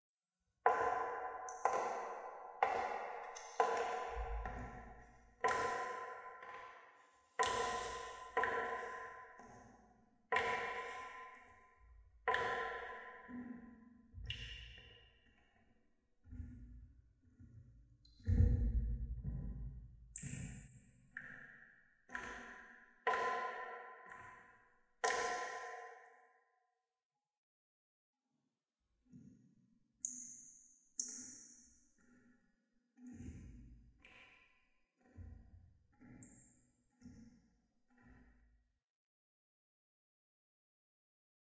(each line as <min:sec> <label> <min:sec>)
0:14.2 Water Drip 0:14.9
0:20.1 Water Drip 0:20.6
0:30.0 Water Drip 0:30.4
0:31.0 Water Drip 0:31.4